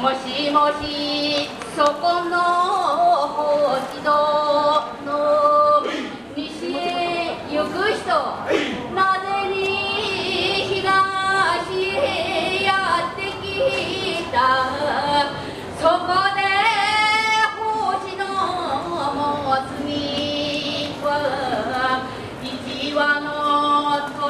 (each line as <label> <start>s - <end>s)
crowds exit 0.0s - 24.2s